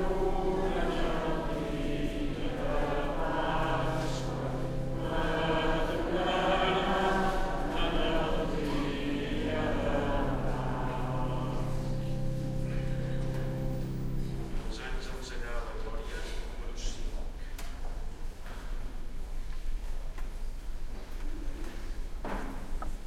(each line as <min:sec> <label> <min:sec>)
0:00.0 midnight mass 0:17.4